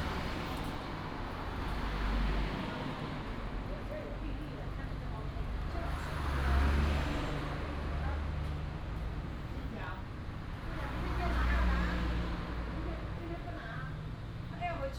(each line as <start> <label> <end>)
0.0 traffic sound 14.9